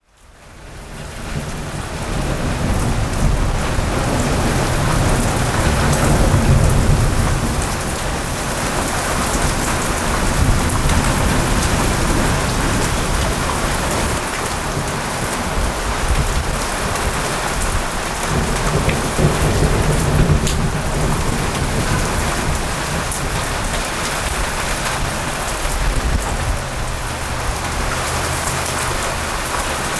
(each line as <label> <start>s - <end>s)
Heavy rain 0.0s - 29.9s
Wind 0.0s - 29.9s
thunderstorms 0.7s - 29.9s